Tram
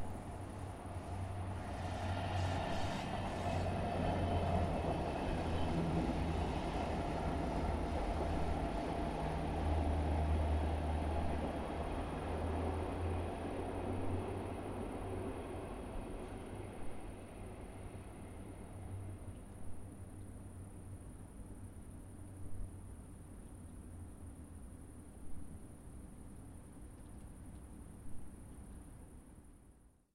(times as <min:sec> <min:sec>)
0:00.0 0:21.6